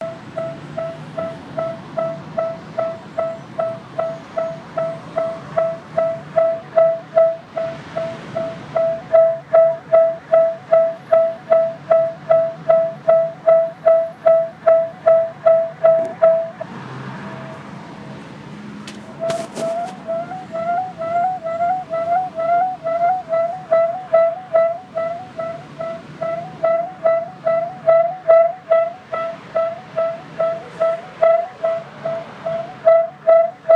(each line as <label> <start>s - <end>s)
traffic 0.0s - 33.7s